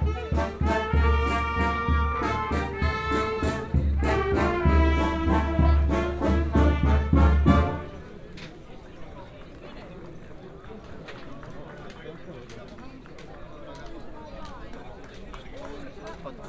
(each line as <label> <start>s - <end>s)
crowds 0.0s - 16.4s